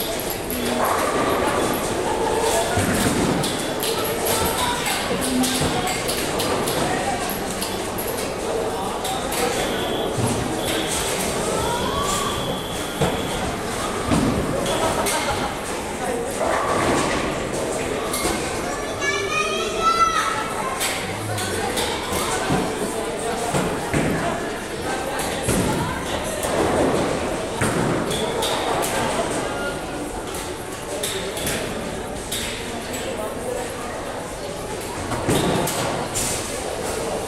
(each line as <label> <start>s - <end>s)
children 0.0s - 9.5s
people 0.0s - 37.2s
children 10.4s - 27.5s